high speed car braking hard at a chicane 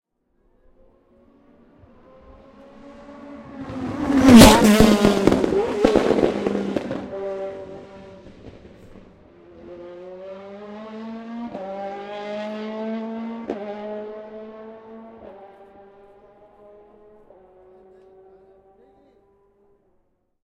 2.0 9.2

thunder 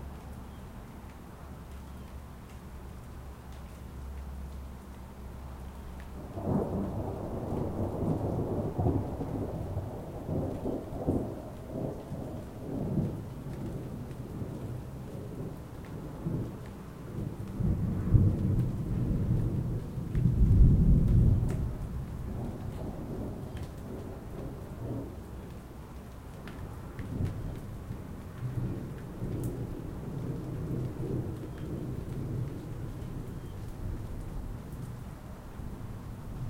6.2 14.7, 17.2 25.1

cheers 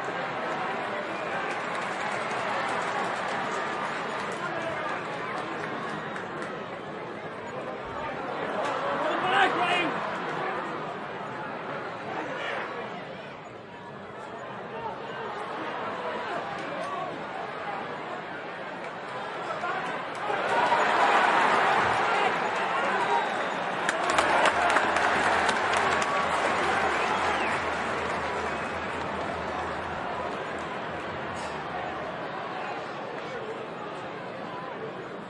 0.0 6.6, 8.0 10.9, 18.8 33.6

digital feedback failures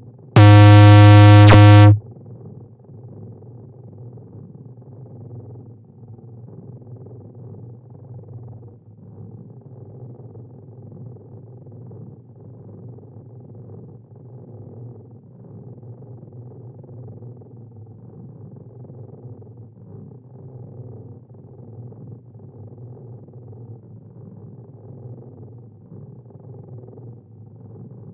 0.4 2.0

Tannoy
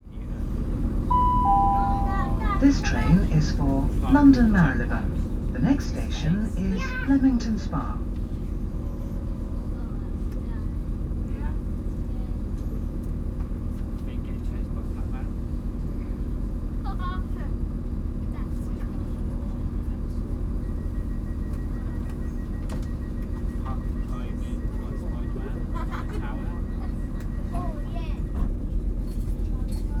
1.1 5.0

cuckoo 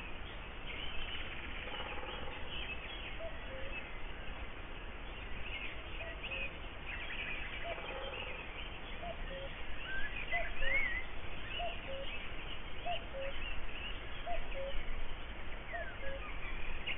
1.6 3.8, 7.6 8.4, 9.0 11.0, 11.6 12.1, 12.8 13.4, 14.2 14.8, 15.7 16.9

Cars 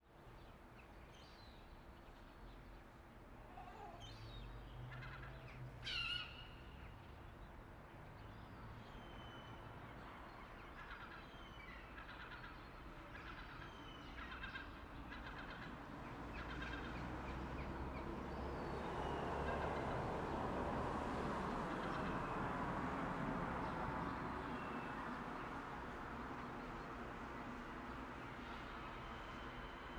15.6 29.9

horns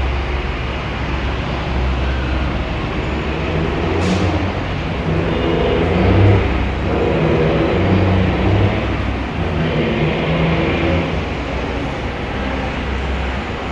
3.2 11.3

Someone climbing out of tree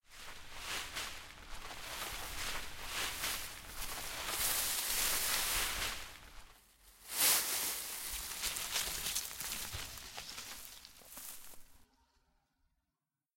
3.1 11.8

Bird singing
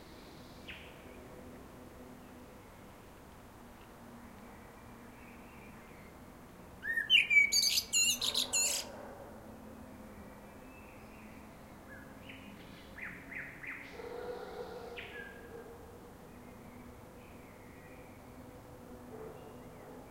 6.8 8.9

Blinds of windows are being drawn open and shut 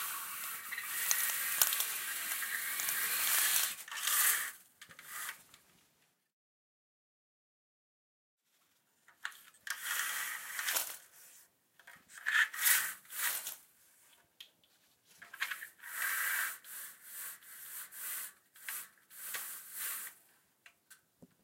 0.0 5.6, 9.2 13.6, 15.2 20.2

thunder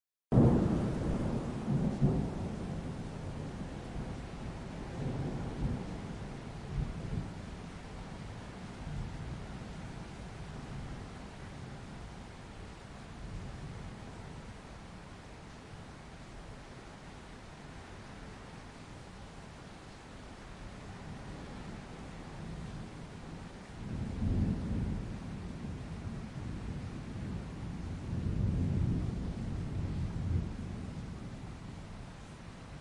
0.3 7.6, 21.1 31.9

